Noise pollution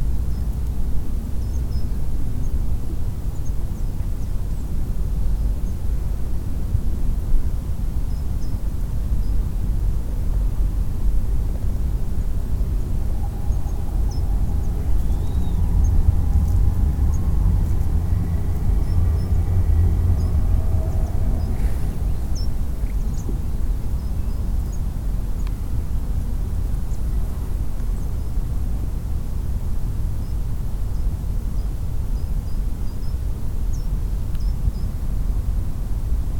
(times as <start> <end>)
8.7 32.0